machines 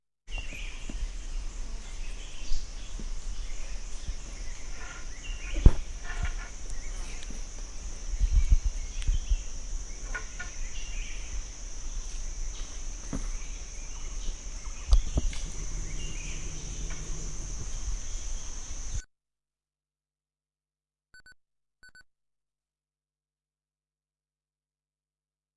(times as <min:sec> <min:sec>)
0:14.8 0:19.0